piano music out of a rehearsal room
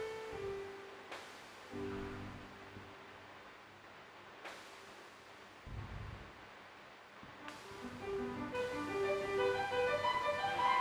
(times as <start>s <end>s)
7.7s 10.8s